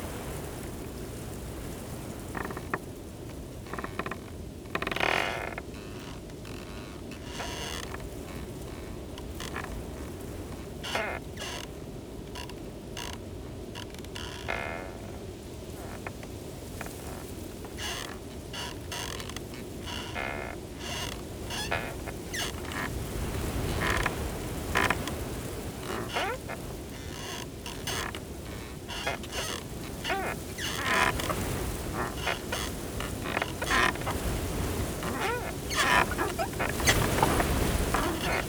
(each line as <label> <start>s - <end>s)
Creaking wooden gate in strong wind 0.0s - 38.4s
strong gusty wind hisses through the reeds 28.0s - 38.4s